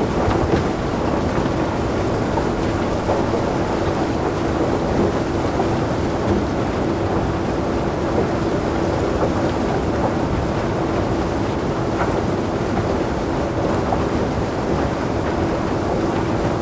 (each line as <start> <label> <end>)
0.0 conveyer belts 5.8